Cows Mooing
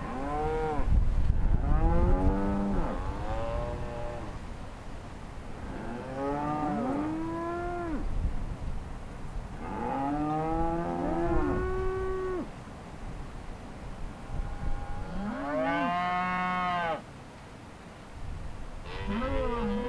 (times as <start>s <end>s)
5.6s 8.0s, 14.8s 17.0s, 18.9s 19.8s